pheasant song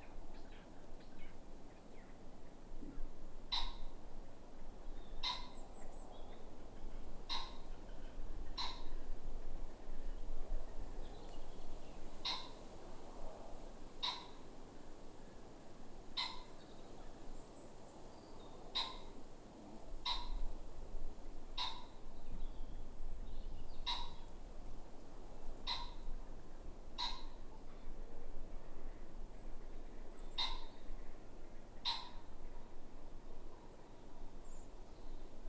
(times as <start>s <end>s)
0.0s 4.0s, 4.7s 12.9s, 14.0s 14.5s, 16.2s 19.2s, 20.0s 20.5s, 21.5s 24.5s, 25.6s 26.2s, 27.0s 28.0s, 28.9s 35.4s